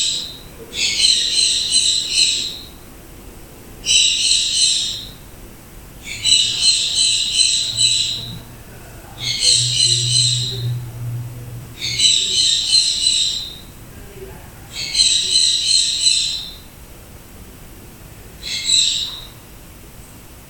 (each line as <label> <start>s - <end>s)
birds 0.0s - 2.9s
birds 3.8s - 10.9s
ac occasionally turning on and off 4.8s - 15.3s
birds 14.7s - 16.7s